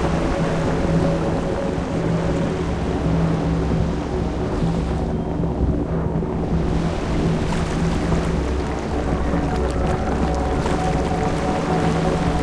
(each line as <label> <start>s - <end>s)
Drone 0.0s - 12.4s
Forest rain 0.0s - 12.4s
Wind 0.0s - 12.4s